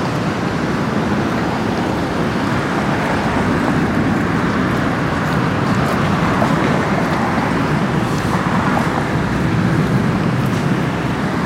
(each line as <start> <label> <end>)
0.0 light automobile traffic 11.4